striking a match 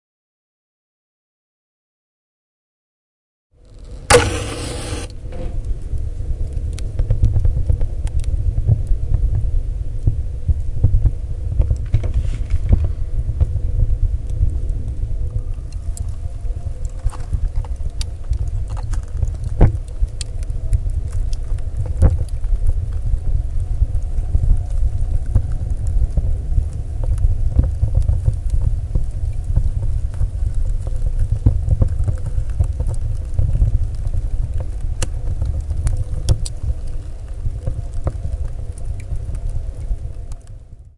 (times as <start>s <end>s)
3.8s 5.7s